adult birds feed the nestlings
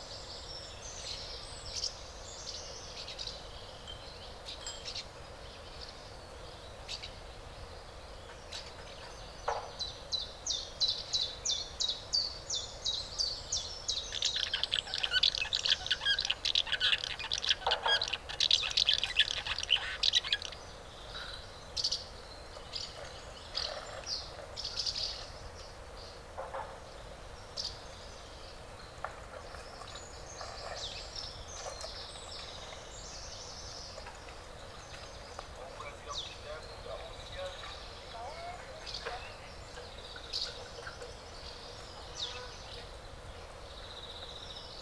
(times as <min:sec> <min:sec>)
0:13.9 0:20.6